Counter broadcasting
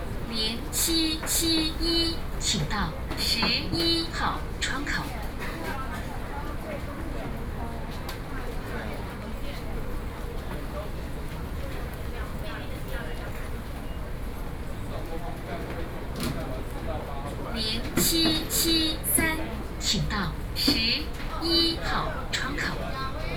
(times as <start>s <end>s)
0.3s 5.1s, 17.6s 23.3s